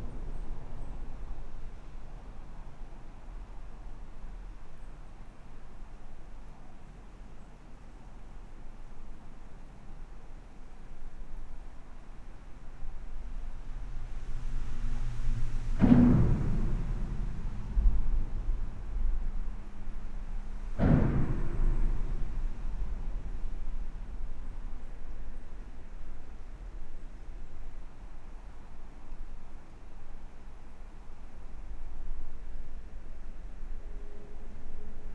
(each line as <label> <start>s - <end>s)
impact noises come from the seals 15.5s - 19.3s
impact noises come from the seals 20.6s - 24.0s